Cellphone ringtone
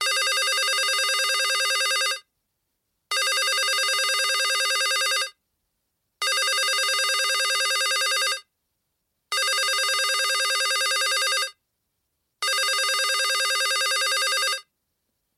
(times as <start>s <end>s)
0.0s 2.2s, 3.1s 5.4s, 6.2s 8.5s, 9.3s 11.6s, 12.4s 14.7s